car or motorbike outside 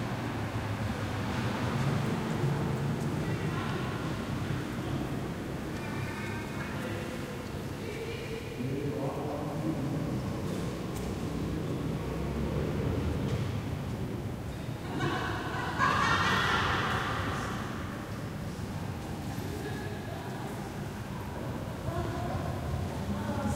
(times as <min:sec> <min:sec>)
0:00.0 0:05.6, 0:10.1 0:14.6